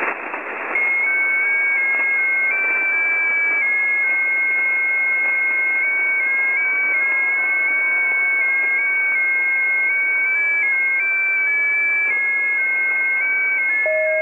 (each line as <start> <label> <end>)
0.0 JT65 transmission 14.2
0.0 static 14.2